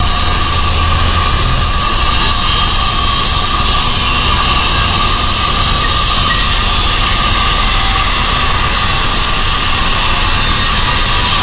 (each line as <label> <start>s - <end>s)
diamond saw / radial 0.0s - 11.4s